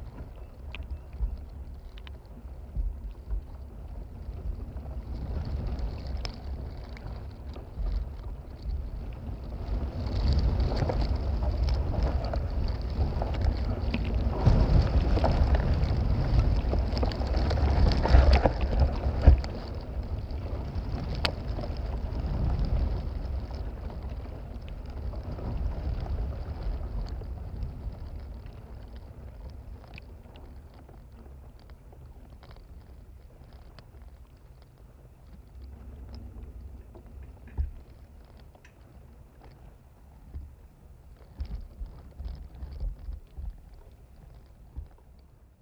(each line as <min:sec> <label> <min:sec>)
0:01.6 Windgusts through palmtree fronds and fibres 0:45.6